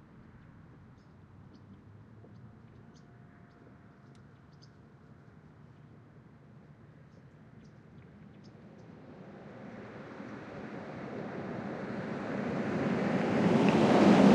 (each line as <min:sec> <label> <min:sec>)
0:09.0 Cars Passing 0:14.3